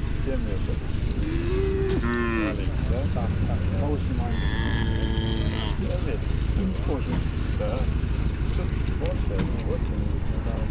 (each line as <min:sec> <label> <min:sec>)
0:00.0 conversation with one of the men 0:10.7
0:00.0 cows 0:10.7
0:01.0 Sheep 0:06.0